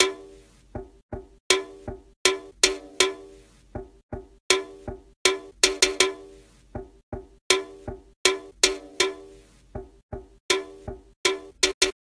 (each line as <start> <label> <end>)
0.0 hitting a sodacan 12.0